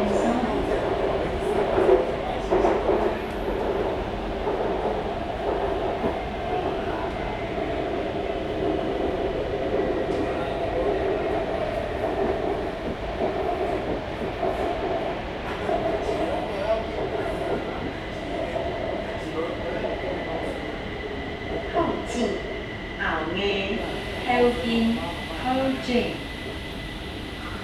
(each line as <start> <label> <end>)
0.0 Kaohsiung Mass Rapid Transit 27.6